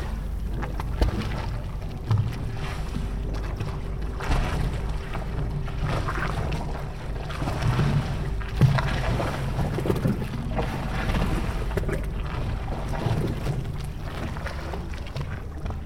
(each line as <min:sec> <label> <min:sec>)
0:00.0 sea splashing between pontoons and mole 0:15.8